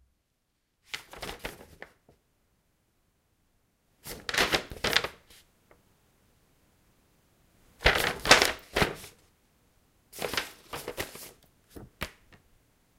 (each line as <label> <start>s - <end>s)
rustling paper 0.9s - 2.0s
rustling paper 4.0s - 5.5s
rustling paper 7.8s - 9.2s
rustling paper 10.2s - 12.0s